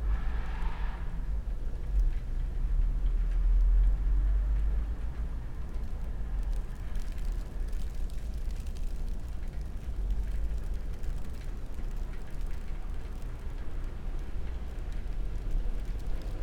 cars sliding on nearby street 0.0 - 1.5
snowplough 1.7 - 16.4

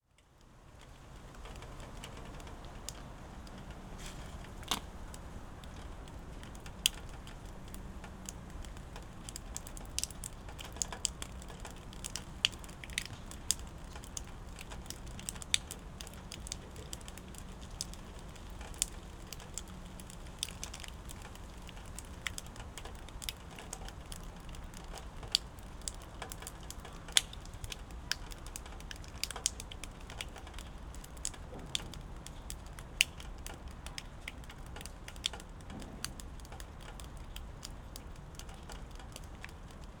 raindrops 0.0 - 40.0

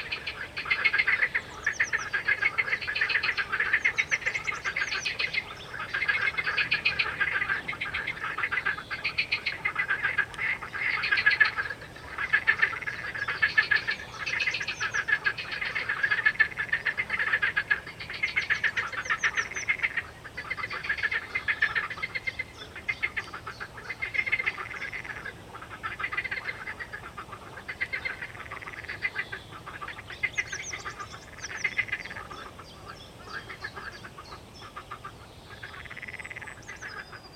Birds 0.0 - 37.3
frogs 0.0 - 37.3

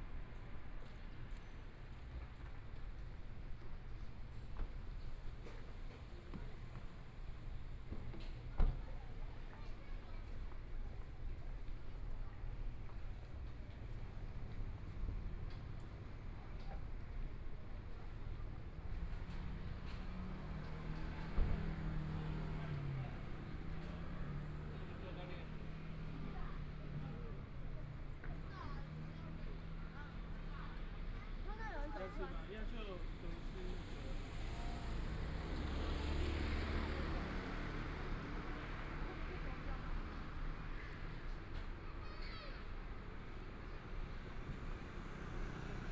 Pedestrians on the road 0.0 - 45.9
Traffic Sound 9.8 - 45.9

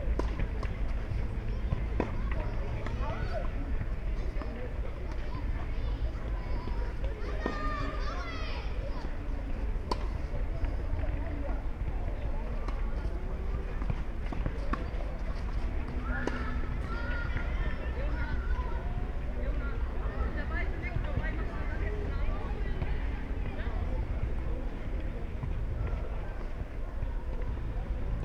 soccer and tennis training 0.0 - 28.2

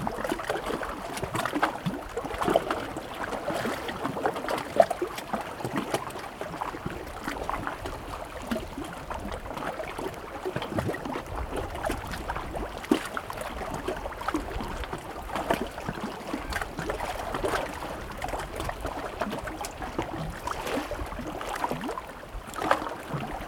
Waves on rocky shoreline 8.3 - 23.4

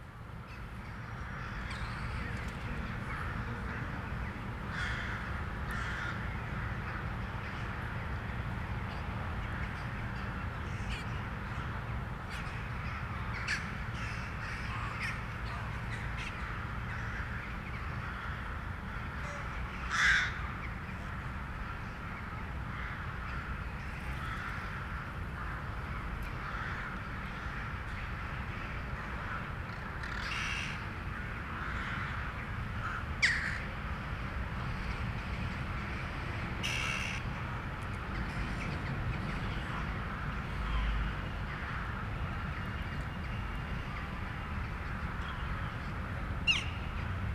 thousands of crows woke up to move 0.5 - 8.1
thousands of crows woke up to move 12.3 - 37.3

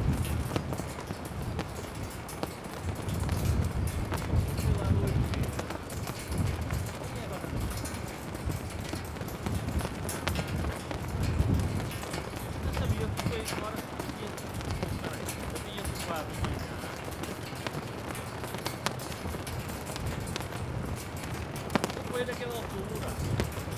flag poles trembling in the wind 0.0 - 23.7
flags flap fiercely 0.0 - 23.7
steel cables drum on the poles 0.0 - 23.7

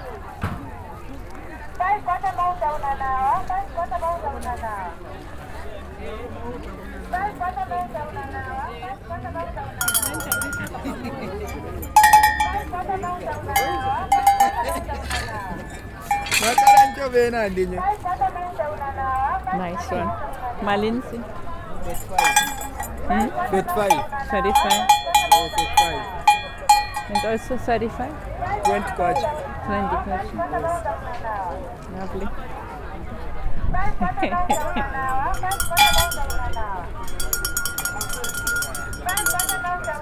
Cow bells 9.8 - 17.6
Cow bells 21.8 - 30.1
Cow bells 34.5 - 40.0

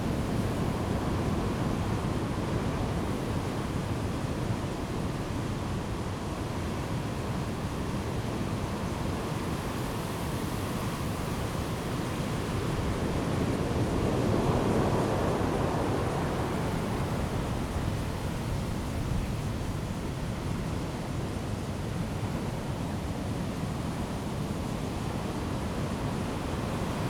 Great wind and waves 0.0 - 27.0

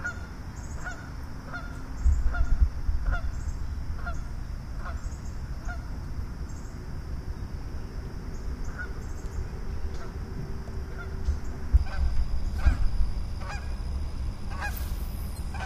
Geese 0.0 - 5.9
Birds 0.0 - 15.6
Geese 8.6 - 9.3
Geese 9.9 - 10.2
Geese 10.9 - 11.2
Geese 11.8 - 13.8
Geese 14.5 - 14.9

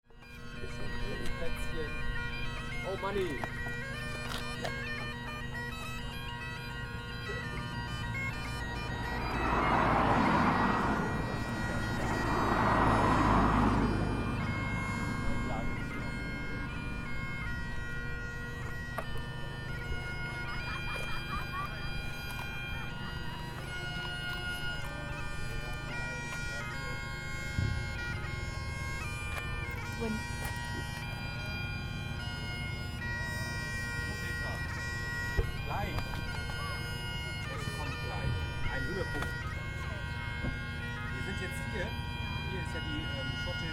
bagpiper playing 0.0 - 43.7
Windy hilltop 0.1 - 43.7
bikers discuss places 0.2 - 19.1
Burger van generator 4.8 - 21.4

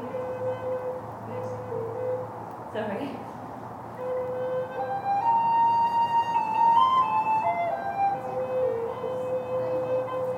traffic passes way below at the bottom of the valley 0.0 - 10.3

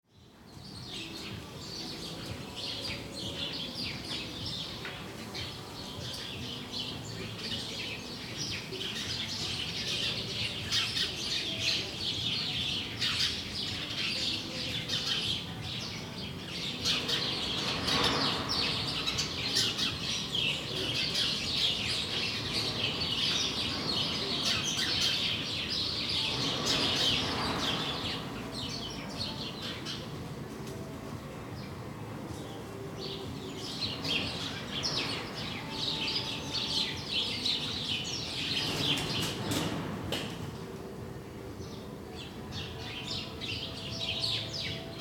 bunch of clamorous sparrows 0.1 - 45.0

